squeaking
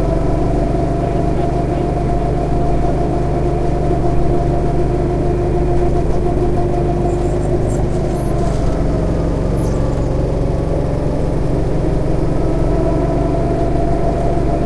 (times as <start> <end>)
5.6 11.4